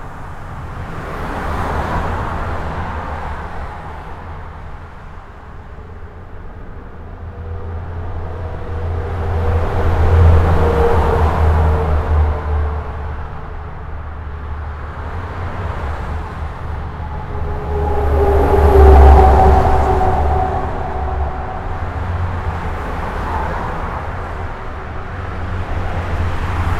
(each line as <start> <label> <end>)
0.0 trucks 26.7
0.0 very dense trafic on the local highway 26.7